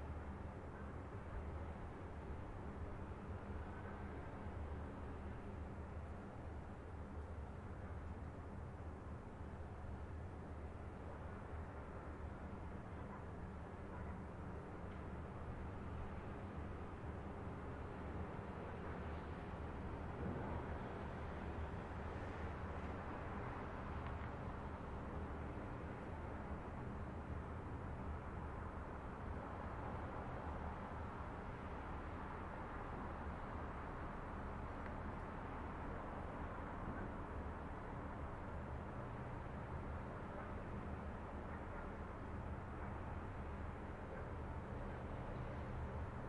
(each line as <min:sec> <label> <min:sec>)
0:09.2 distant light traffic 0:46.2